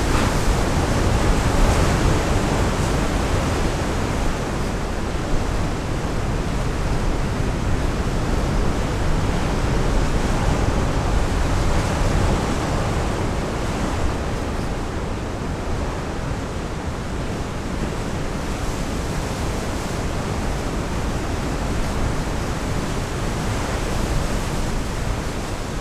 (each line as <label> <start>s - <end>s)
wild waves crush into the rocks 0.0s - 25.8s